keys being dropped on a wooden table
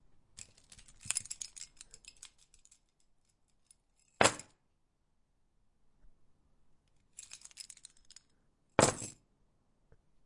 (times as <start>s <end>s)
0.4s 4.6s, 7.1s 9.2s